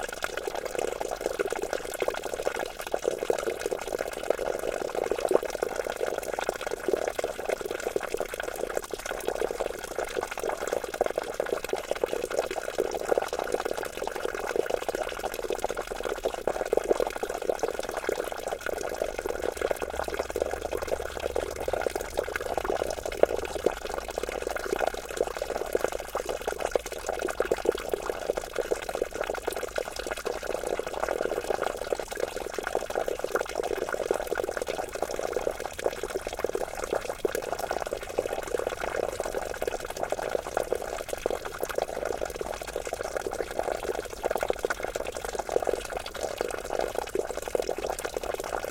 small stream 0:00.0 - 0:48.7
fountain 0:13.4 - 0:48.7

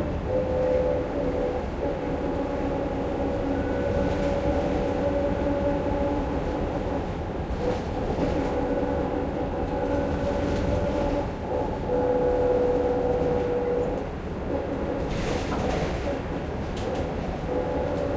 Passengers board 0:00.0 - 0:18.1
whole bus structure rattles loudly 0:02.0 - 0:18.1
Bus' windows rattle a little 0:13.1 - 0:18.1

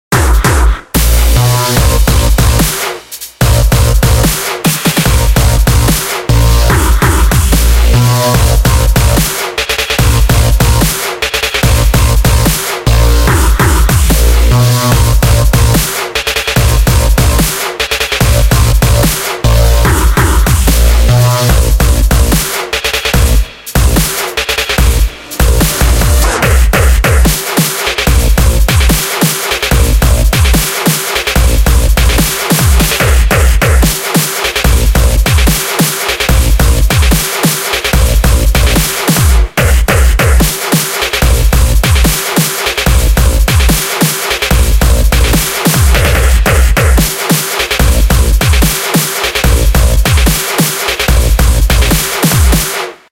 bass 0:00.0 - 0:02.8
snare 0:00.1 - 0:21.6
hats 0:00.1 - 0:53.1
bass 0:03.4 - 0:16.0
bass 0:16.6 - 0:17.6
bass 0:18.2 - 0:27.4
snare 0:22.3 - 0:23.2
pads 0:23.2 - 0:33.8
snare 0:24.0 - 0:24.8
synths 0:24.8 - 0:26.8
snare 0:25.6 - 0:31.4
bass 0:28.0 - 0:29.0
bass 0:29.7 - 0:30.6
bass 0:31.4 - 0:33.9
snare 0:32.0 - 0:53.1
bass 0:34.6 - 0:35.6
bass 0:36.2 - 0:37.2
bass 0:37.9 - 0:40.5
bass 0:41.2 - 0:42.1
bass 0:42.8 - 0:43.8
bass 0:44.5 - 0:47.1
bass 0:47.8 - 0:48.7
bass 0:49.4 - 0:50.4
bass 0:51.1 - 0:52.6

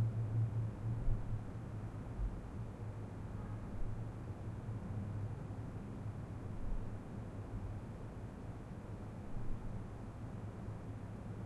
ambient hum and hiss 0:00.0 - 0:11.4

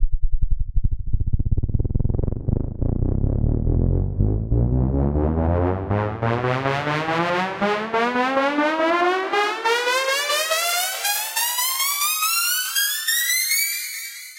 rising pitch modulation 0:00.9 - 0:14.2

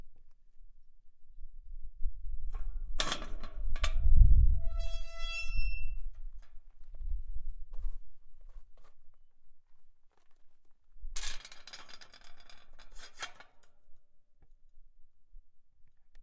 Metal Door 0:02.9 - 0:06.2

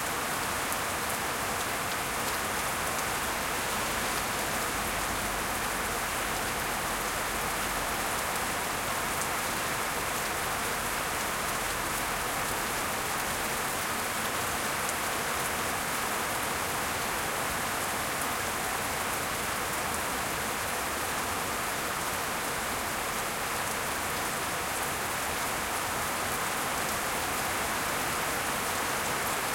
heavy rain 0:00.0 - 0:29.5

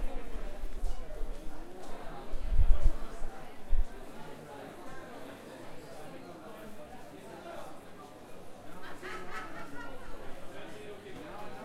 people 0:00.0 - 0:11.6

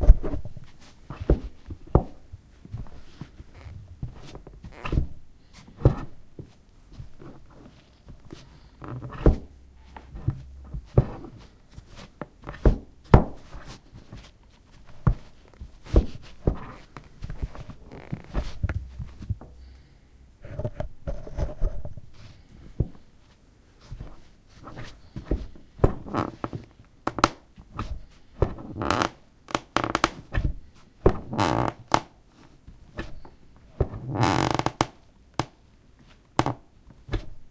squeaky floorboards 0:00.0 - 0:05.2
walking 0:00.2 - 0:19.9
squeaky floorboards 0:05.8 - 0:14.3
squeaky floorboards 0:14.9 - 0:19.5
squeaky floorboards 0:24.0 - 0:30.5
squeaky floorboards 0:31.1 - 0:32.1
squeaky floorboards 0:33.0 - 0:35.5
squeaky floorboards 0:36.4 - 0:37.3

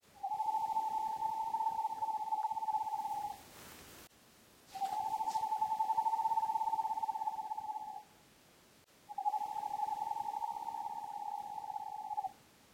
screech owl 0:00.2 - 0:03.4
screech owl 0:04.7 - 0:08.1
screech owl 0:09.1 - 0:12.4

